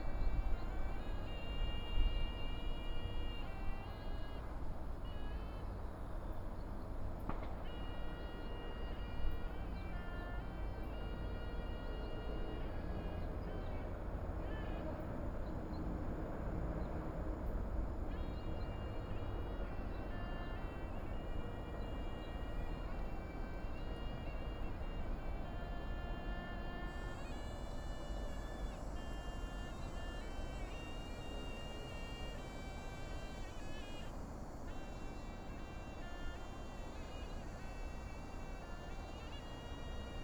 18.0s Suona 40.2s

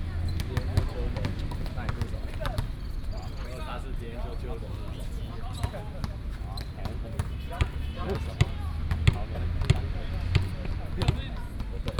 0.0s Play basketball 3.8s
4.4s Traffic Sound 11.9s
4.8s Play basketball 11.9s

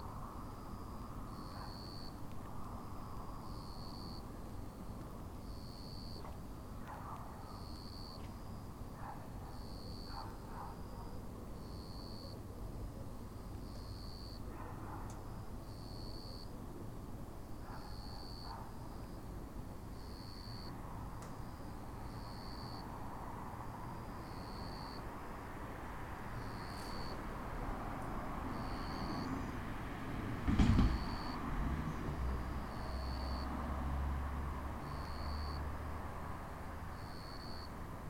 0.0s distant cars passing by 16.4s
11.6s Cicadas (jr something similar) singing 14.5s
15.3s Cicadas (jr something similar) singing 16.5s
17.4s distant cars passing by 38.0s
17.6s Cicadas (jr something similar) singing 20.8s
21.4s Cicadas (jr something similar) singing 29.8s
30.8s Cicadas (jr something similar) singing 37.8s

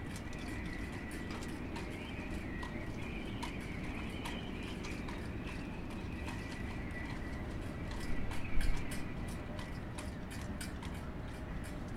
0.0s shipbuilding with the wind 11.9s

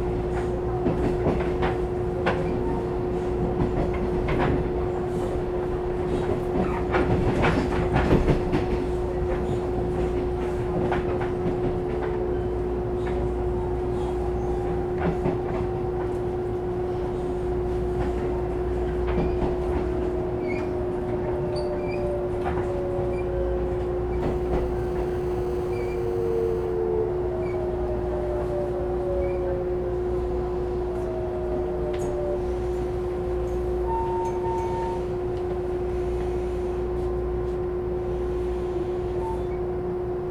22.3s Train crossing 28.5s
24.2s Trains traveling 26.8s
24.2s Train broadcast message 26.8s

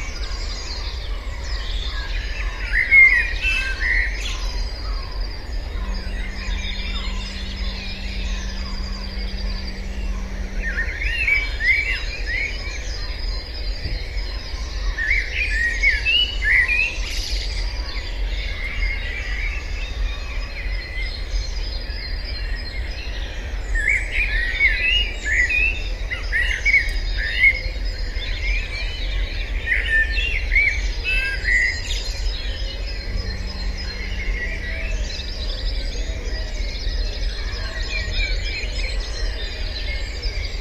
0.0s Dawn Chorus 17.0s
5.3s Fog Horns 12.6s
29.3s Dawn Chorus 40.6s

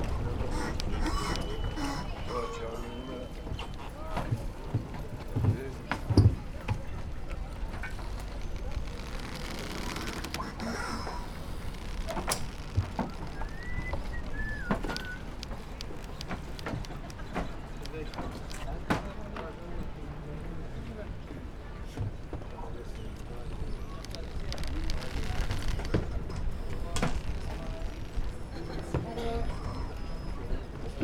0.0s yacht hulls rubbing against each other 4.0s
0.0s crunching rope holding a boat to the pier 19.2s
0.0s catamaran arrival 31.0s
0.0s operators say thank you 8.9s
7.0s yacht hulls rubbing against each other 18.5s
10.4s operators say thank you 19.8s
22.7s operators say thank you 31.0s
22.8s crunching rope holding a boat to the pier 29.0s
23.2s yacht hulls rubbing against each other 30.3s

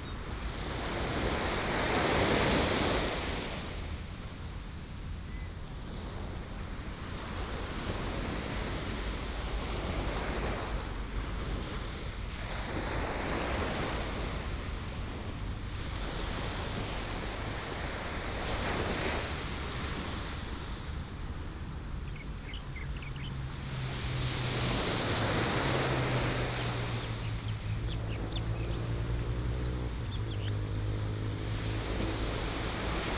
0.0s waves 33.1s

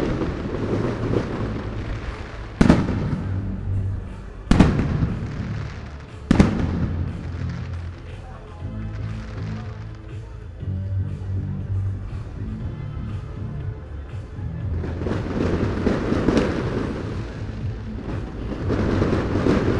0.0s fireworks 10.4s
14.8s fireworks 19.7s

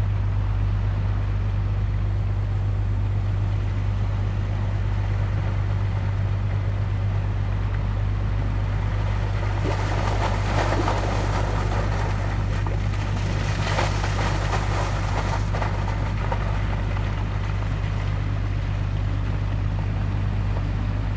0.0s boat passing by 21.1s
9.1s Water pipe discharging water 17.9s

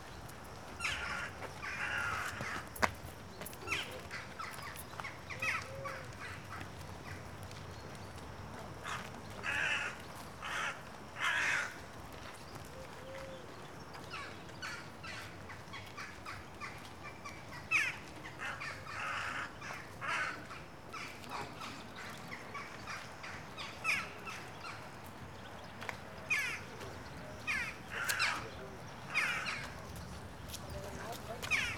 0.8s crows 2.8s
5.3s crows 6.7s
8.8s crows 11.9s
14.1s crows 24.8s
17.6s other birds chatting in the trees 31.7s
26.3s crows 26.7s
27.4s crows 29.8s

